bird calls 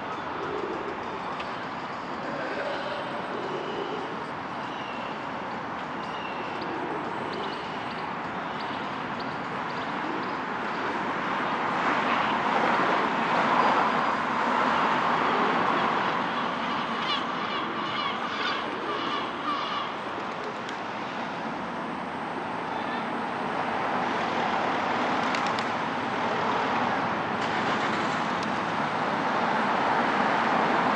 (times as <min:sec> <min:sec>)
0:00.1 0:05.3